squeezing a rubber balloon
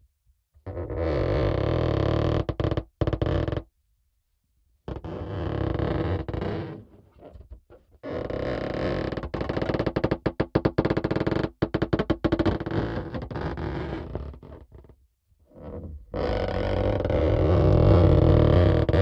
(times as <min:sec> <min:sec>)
0:15.6 0:19.0